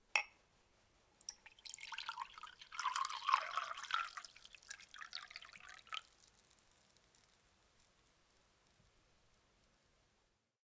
pouring water in glass1 0:01.2 - 0:08.8

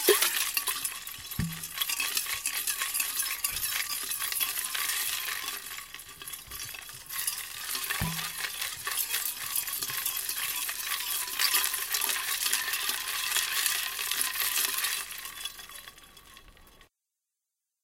ice cream ball maker being shaken around 0:00.0 - 0:16.9

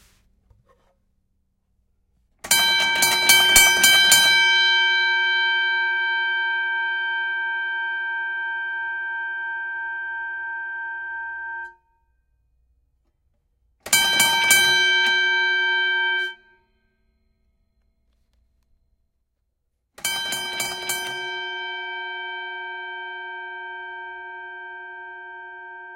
Boxing bell, various rings dings pulses close distant 0:02.5 - 0:09.1
Boxing bell, various rings dings pulses close distant 0:13.9 - 0:16.4
Boxing bell, various rings dings pulses close distant 0:20.0 - 0:25.9

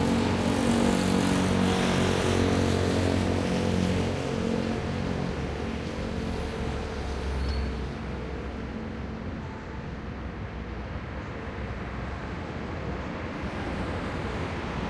cars 0:00.0 - 0:14.8

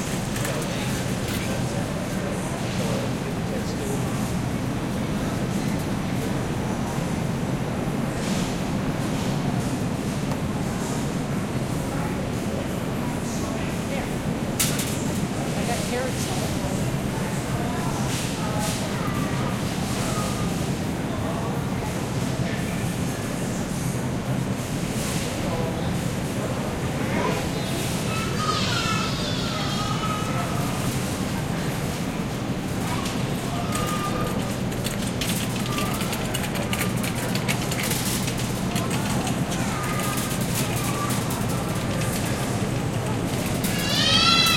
customer ambience 0:00.0 - 0:44.5
refrigerators 0:00.0 - 0:44.5

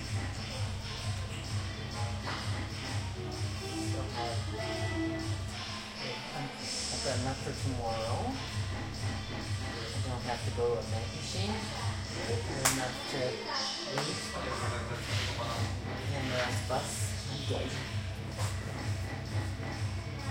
music 0:00.0 - 0:20.3

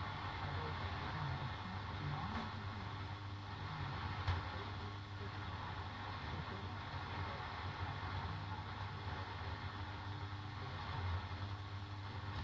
faint broadcast signal with interference and some hiss 0:00.0 - 0:12.4

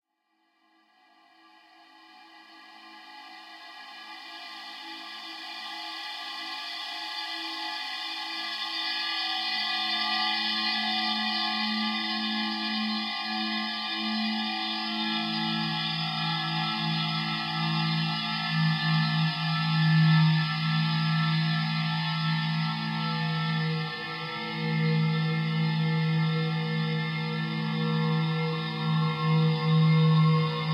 powerful, tuned drone in A minor 0:07.3 - 0:30.7

